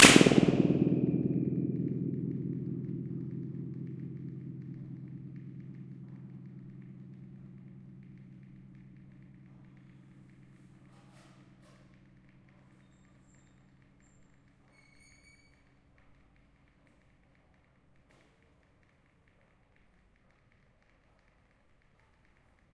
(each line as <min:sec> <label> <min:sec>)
0:00.0 Balloon burst 0:09.6
0:00.0 flutter echo 0:11.7